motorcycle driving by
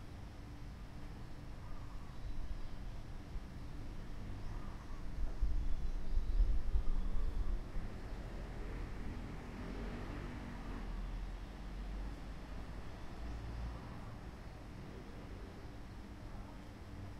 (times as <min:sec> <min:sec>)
0:08.2 0:11.0